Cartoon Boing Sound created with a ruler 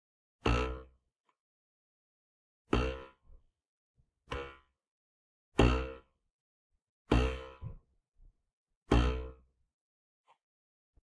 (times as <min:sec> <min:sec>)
0:00.4 0:01.0, 0:02.7 0:03.4, 0:04.2 0:04.8, 0:05.5 0:06.2, 0:07.0 0:07.9, 0:08.8 0:09.5